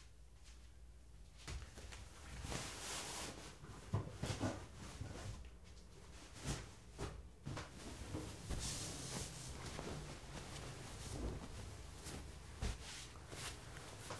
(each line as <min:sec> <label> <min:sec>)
0:06.0 one person on bed 0:14.1